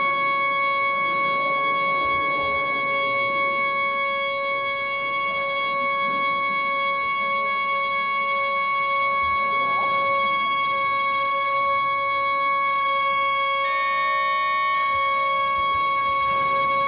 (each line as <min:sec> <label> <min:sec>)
0:00.0 pipe organ being tuned 0:16.8
0:00.0 visitors talking and walking around 0:16.8